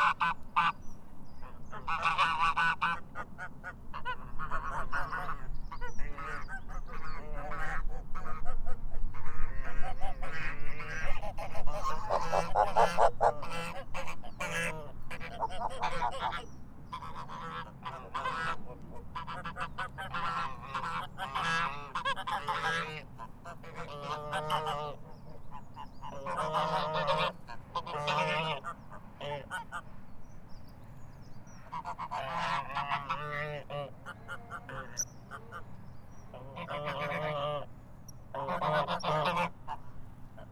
0.0s Unhappy geese 29.9s
31.6s Unhappy geese 40.5s

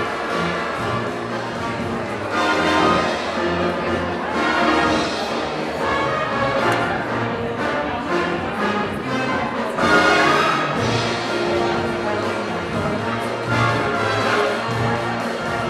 0.0s audience 15.6s
0.0s big band playing 15.6s

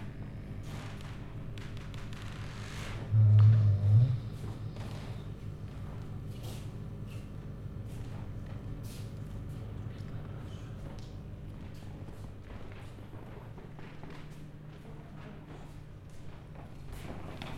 3.0s snoring sounds from video projection 5.3s

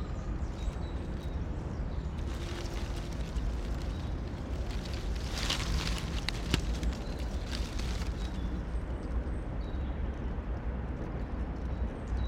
0.0s traffic noise 12.2s
0.0s Wind gust rustle the dry leaves 12.2s
2.2s rain 8.5s

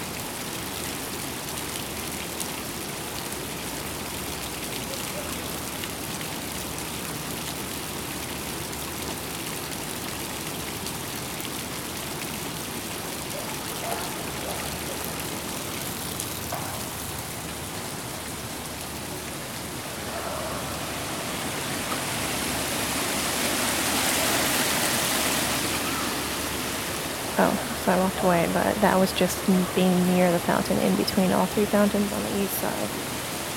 0.0s Fountains 33.5s

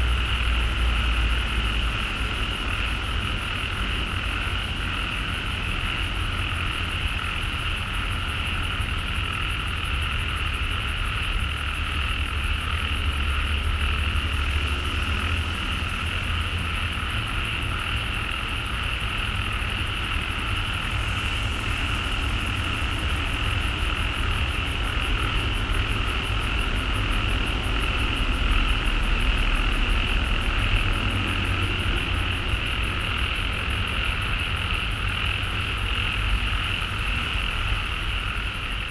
12.9s Traffic Sound 38.9s

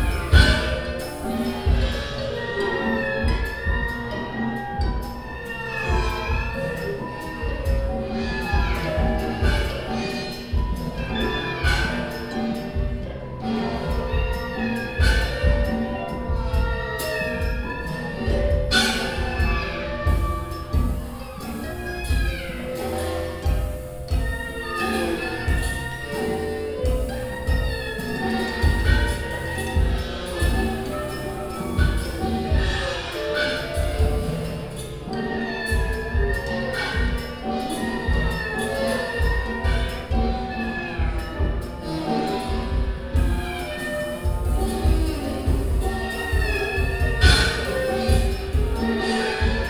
0.0s concert of the zeitkratzer ensemble performing music 49.6s

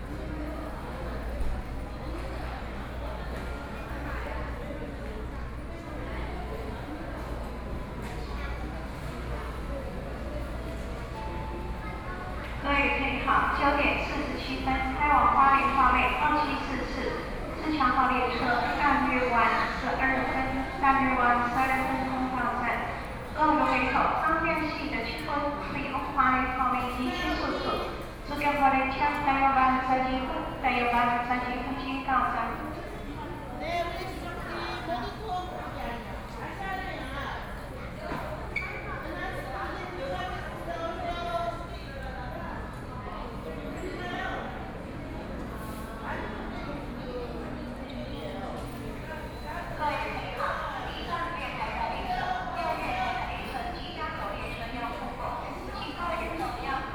0.0s Train traveling through the platform 56.9s
0.1s Japanese tourists sound 56.9s
12.6s Stations broadcast audio messages 32.6s

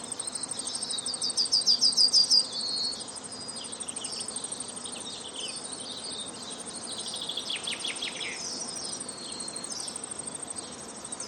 0.0s Fernbirds 11.2s

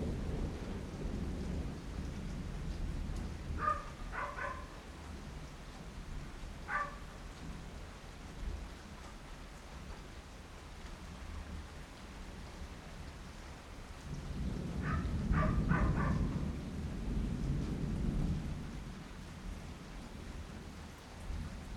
0.0s thunder 4.7s
0.0s rain 21.7s
3.6s bark 4.8s
6.7s bark 7.1s
14.1s thunder 18.9s
14.8s bark 16.4s

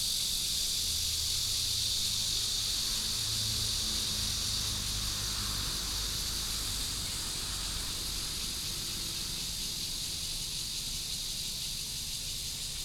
0.0s Cicadas 12.8s

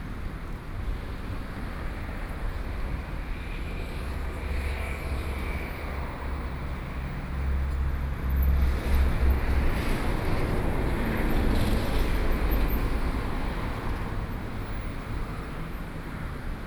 0.2s traffic noise 16.6s

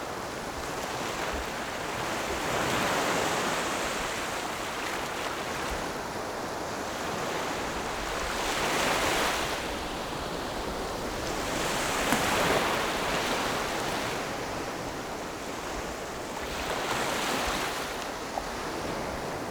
0.0s waves 19.5s

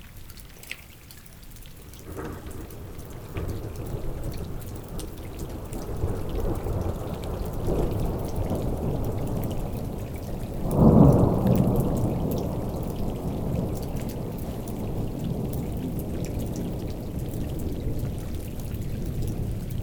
0.0s small river 19.8s
2.1s strong storm 19.8s

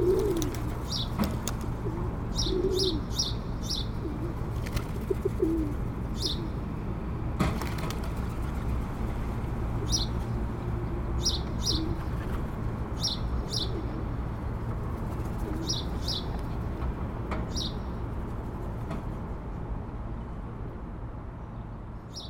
0.0s pigeons flirting 3.0s
4.1s pigeons flirting 5.9s
7.4s pigeons flirting 10.2s

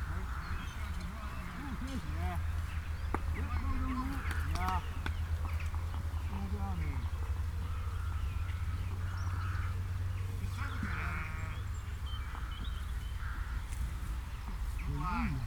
0.0s house martins 9.8s
0.0s traffic noise 15.4s
10.4s cow chorus 11.7s

